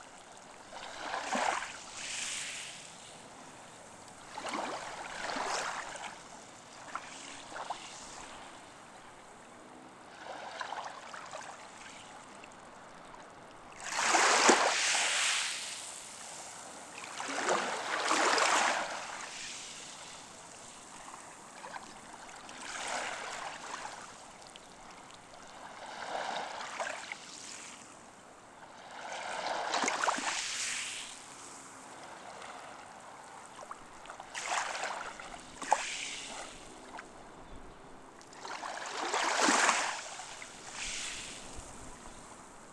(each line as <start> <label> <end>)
0.6 waves playing with stones and sands 8.6
13.8 waves playing with stones and sands 24.4
28.9 waves playing with stones and sands 32.4
34.2 waves playing with stones and sands 36.9
38.3 waves playing with stones and sands 42.7